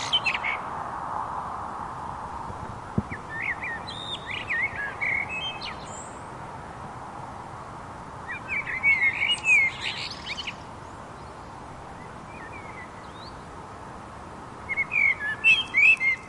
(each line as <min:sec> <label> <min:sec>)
0:00.0 pair of black birds singing 0:00.7
0:00.0 quiet traffic 0:16.2
0:02.4 pair of black birds singing 0:06.4
0:08.2 pair of black birds singing 0:14.0
0:14.6 pair of black birds singing 0:16.2